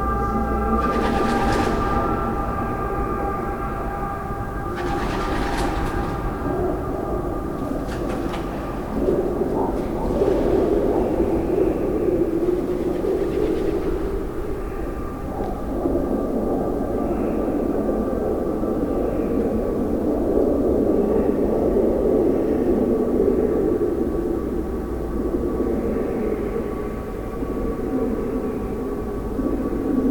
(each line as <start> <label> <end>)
0.0 doves 17.9